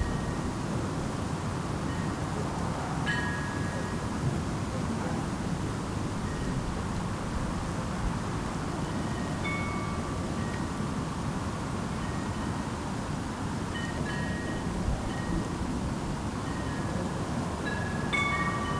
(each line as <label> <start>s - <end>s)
Wind chimes 0.0s - 0.5s
Wind chimes 3.1s - 4.0s
Wind chimes 8.8s - 10.8s
Wind chimes 13.7s - 15.6s
Wind chimes 16.4s - 18.7s